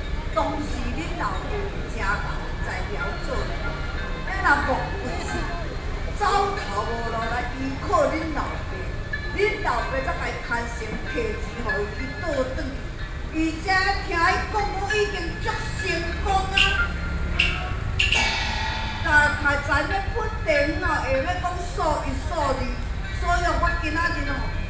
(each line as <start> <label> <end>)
0.0 Traditional theatrical performances 24.6